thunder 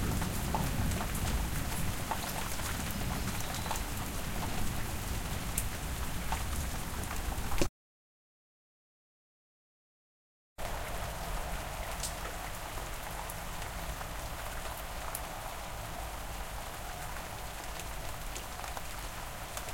0.0 4.8

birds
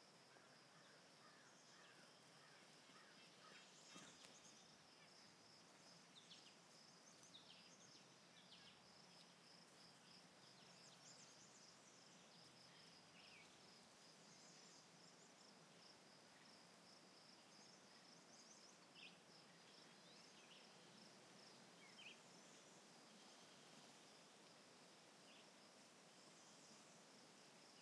0.4 9.4

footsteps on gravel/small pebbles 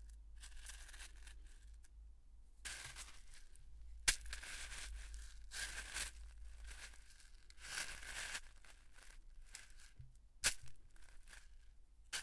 2.7 3.5, 4.1 11.6

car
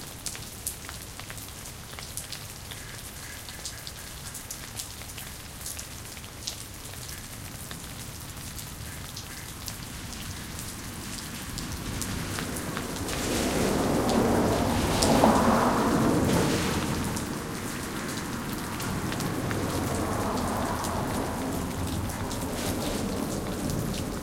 12.4 24.2

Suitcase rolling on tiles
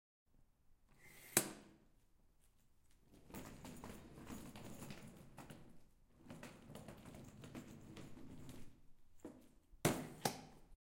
3.1 8.8

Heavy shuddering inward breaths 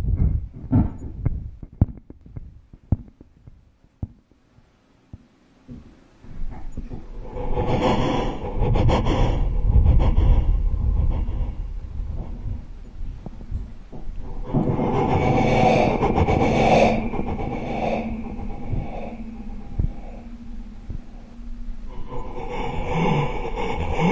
6.3 24.1

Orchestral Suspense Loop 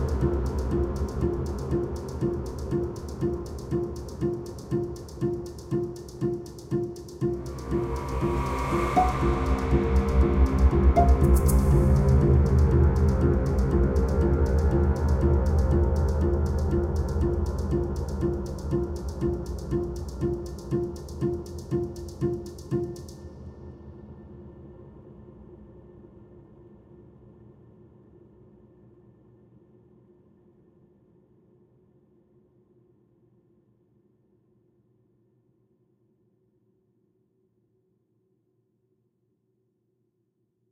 0.0 23.2

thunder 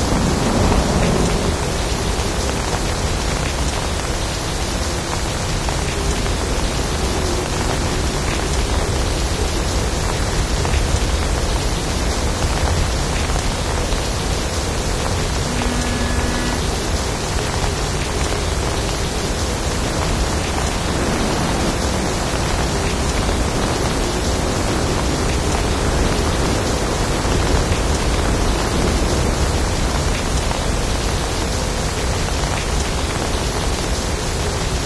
0.0 4.1

